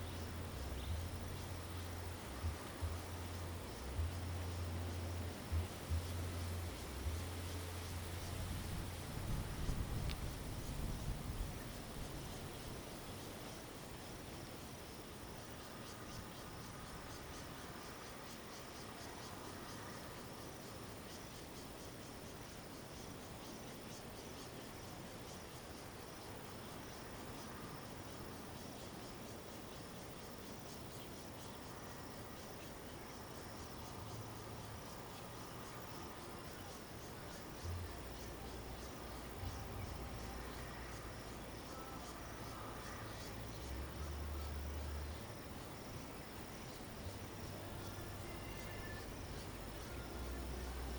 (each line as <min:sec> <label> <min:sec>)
0:00.0 Bird song 0:10.2
0:00.0 wind 0:50.9